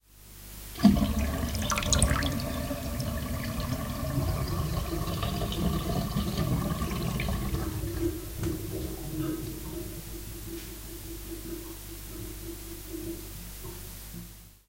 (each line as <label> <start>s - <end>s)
sink emptying 0.8s - 5.8s